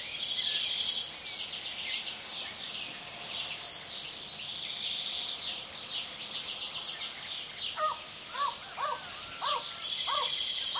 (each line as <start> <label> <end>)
0.0 morning chorus of birds 10.7